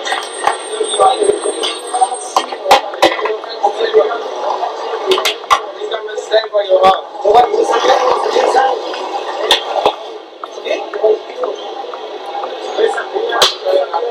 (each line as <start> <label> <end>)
0.0 gather and chat around 14.1